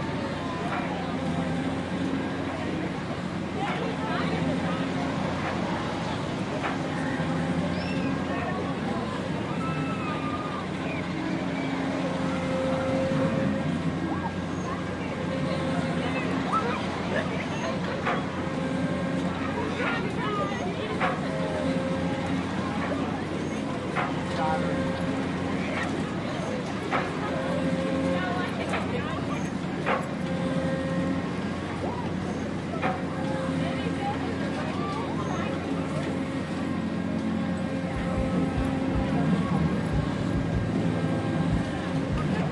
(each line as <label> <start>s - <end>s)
compressed air pistons of a carnival ride 0.0s - 42.5s
crowd chatter 0.0s - 42.5s
whine of the ride's hydraulics 0.0s - 42.5s
passenger screams 9.4s - 11.1s
generator hum 35.5s - 42.5s